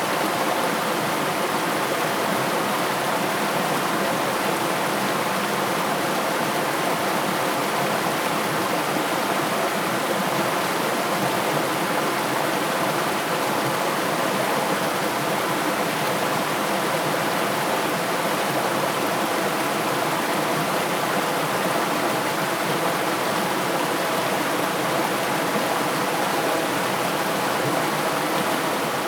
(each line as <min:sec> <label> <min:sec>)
0:00.0 river 0:29.0